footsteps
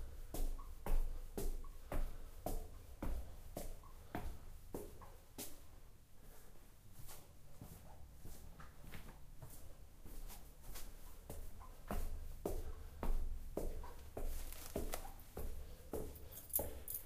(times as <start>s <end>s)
6.9s 17.0s